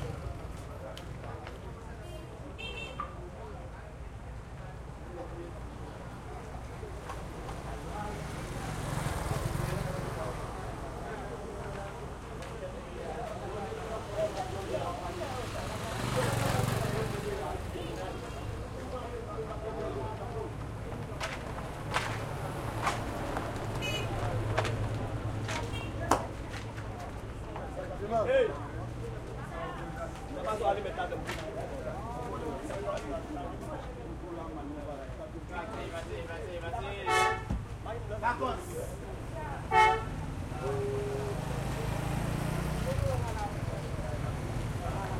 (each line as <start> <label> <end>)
0.0 light crowd 45.1
5.8 motorcycles pass 33.4
38.0 motorcycles pass 45.1